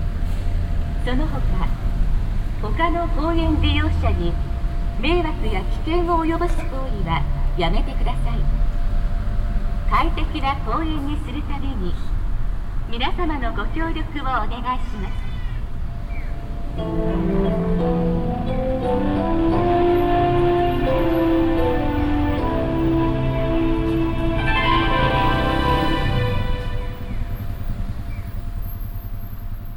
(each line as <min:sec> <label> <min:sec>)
0:01.0 automatic loud speaker announcement 0:01.8
0:02.6 automatic loud speaker announcement 0:08.5
0:09.9 automatic loud speaker announcement 0:12.2
0:12.9 automatic loud speaker announcement 0:15.5
0:16.8 distorted music melody 0:27.4